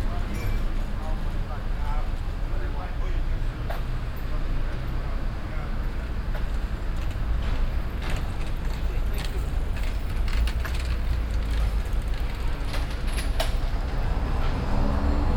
0.0s cars 15.3s
0.0s lorries 15.3s
0.0s motorbikes 15.3s
0.0s passengers 15.3s
0.0s bicycles 15.3s

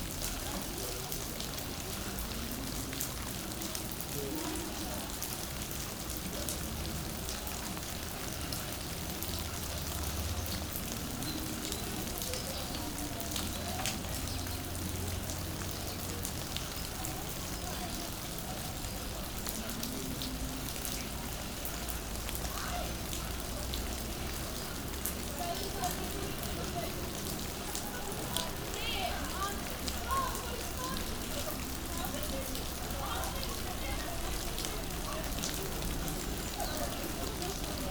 0.0s quite strong rain, falling on a roof 37.9s

